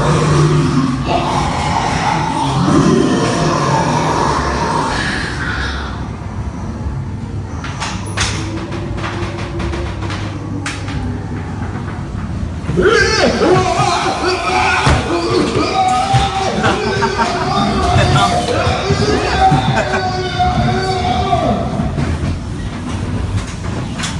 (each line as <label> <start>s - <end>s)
laughing and scared sounds 12.8s - 20.9s